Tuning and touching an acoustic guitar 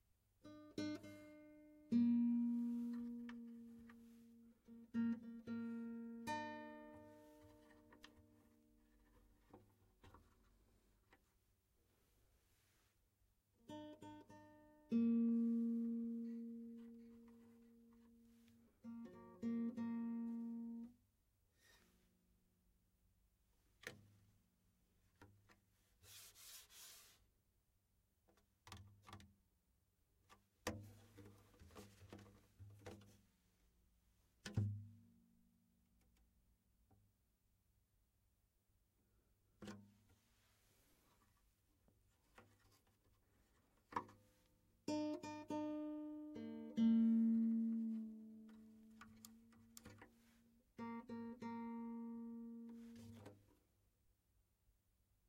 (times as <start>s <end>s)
0.4s 11.4s, 13.6s 21.0s, 28.3s 29.4s, 30.2s 36.4s, 39.5s 53.6s